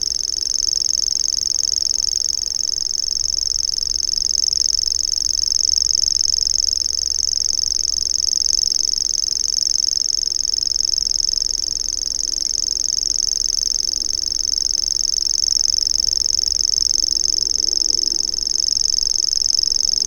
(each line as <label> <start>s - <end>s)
Grasshopper warbler 0.0s - 20.0s